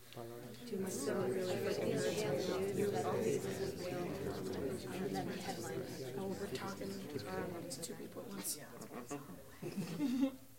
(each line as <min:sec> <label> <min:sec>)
0:00.0 Small crowd murmuring 0:10.5